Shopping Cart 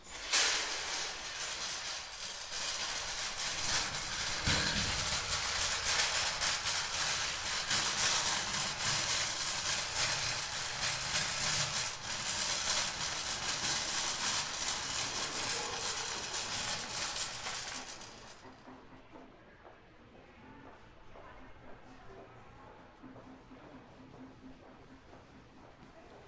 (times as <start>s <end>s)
0.0s 18.5s